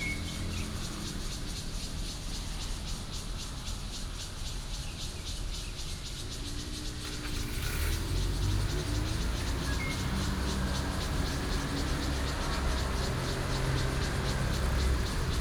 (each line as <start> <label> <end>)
0.0 Traffic sound 4.8
0.0 Birds 15.4
0.0 Cicada 15.4
5.4 Traffic sound 15.4